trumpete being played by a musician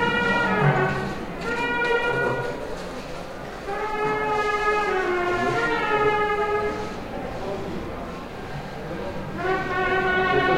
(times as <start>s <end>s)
0.0s 2.8s, 3.6s 7.0s, 9.3s 10.5s